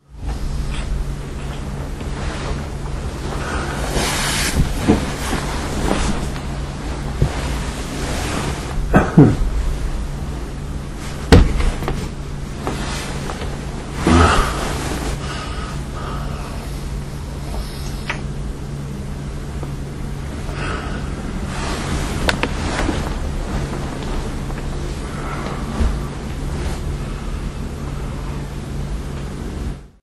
Moving while I sleep 0:00.0 - 0:29.9
breath 0:15.2 - 0:16.8
breath 0:20.5 - 0:21.2

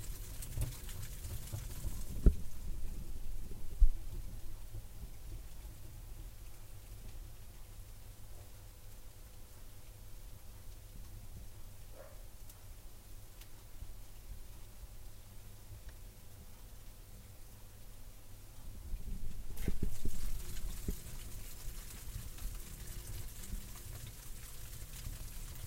Burning fire 0:00.0 - 0:07.2
Burning fire 0:18.8 - 0:25.6

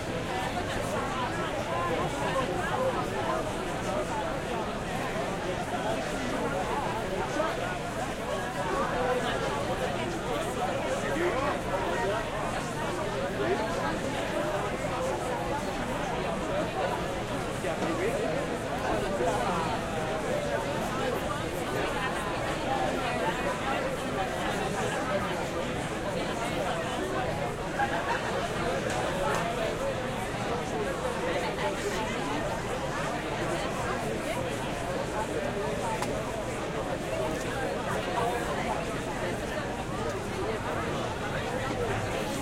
Busy outdoor crowd talking and laughing 0:00.0 - 0:42.4

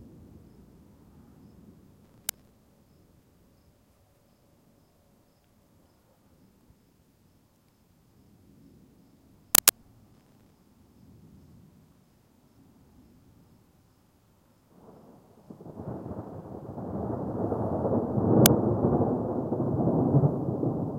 thunder 0:14.8 - 0:20.9

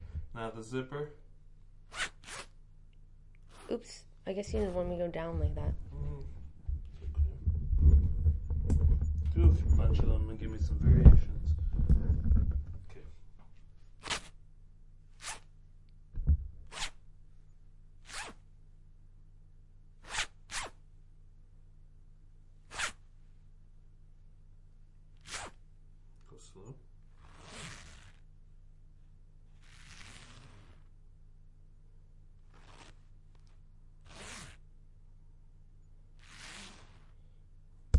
Zipper on a hood, up and down 0:01.9 - 0:02.6
Zipper on a hood, up and down 0:03.4 - 0:04.9
Zipper on a hood, up and down 0:14.0 - 0:14.4
Zipper on a hood, up and down 0:15.1 - 0:15.6
Zipper on a hood, up and down 0:16.6 - 0:17.0
Zipper on a hood, up and down 0:18.0 - 0:18.5
Zipper on a hood, up and down 0:20.0 - 0:20.8
Zipper on a hood, up and down 0:22.6 - 0:23.0
Zipper on a hood, up and down 0:25.2 - 0:25.6
Zipper on a hood, up and down 0:27.1 - 0:28.3
Zipper on a hood, up and down 0:29.5 - 0:30.9
Zipper on a hood, up and down 0:32.4 - 0:34.7
Zipper on a hood, up and down 0:36.2 - 0:37.3

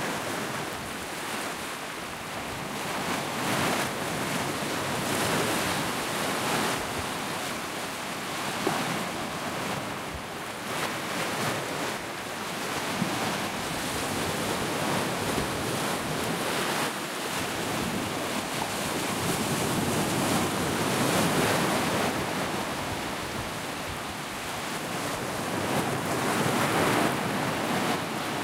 Waves 0:00.0 - 0:28.4

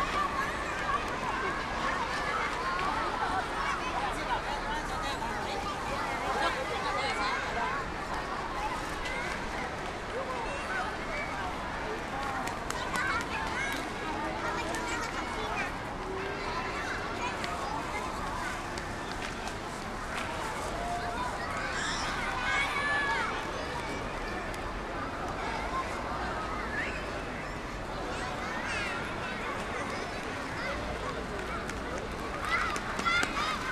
people chatting 0:00.0 - 0:33.7

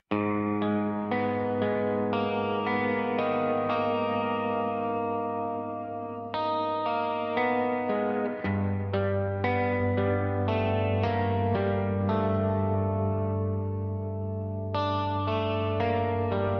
electric guitar 0:00.0 - 0:16.5

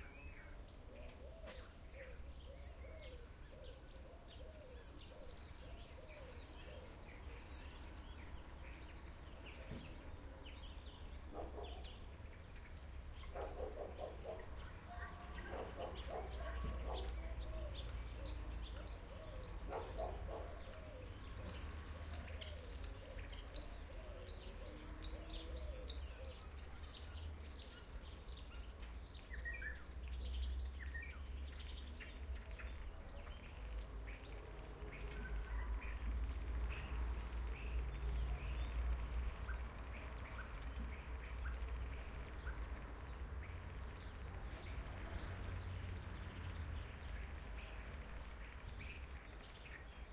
bird sounds 0:00.0 - 0:50.1
cars passing by in the distance 0:00.1 - 0:50.1
dogs barking 0:11.3 - 0:12.0
dogs barking 0:13.3 - 0:14.6
dogs barking 0:15.4 - 0:17.4
dogs barking 0:19.6 - 0:20.9

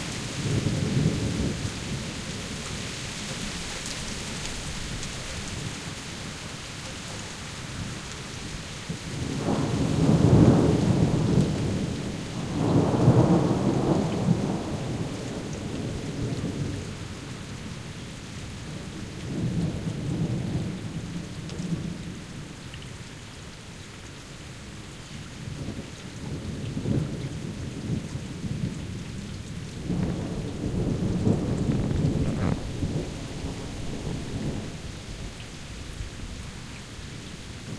sweeping rainfall in the grass and trees 0:00.0 - 0:37.7
water through the gutters and downspouts 0:00.0 - 0:37.7
wind 0:00.0 - 0:37.7
thunder 0:09.2 - 0:16.7
thunder 0:29.8 - 0:35.1

